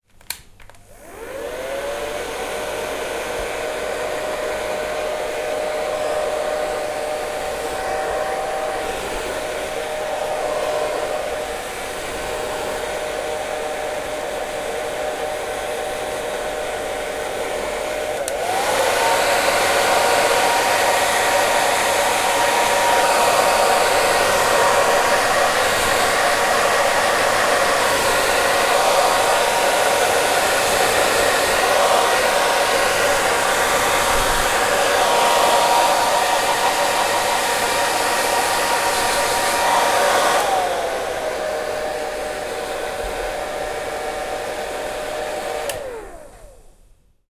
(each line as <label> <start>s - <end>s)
hair dryer 0.3s - 47.3s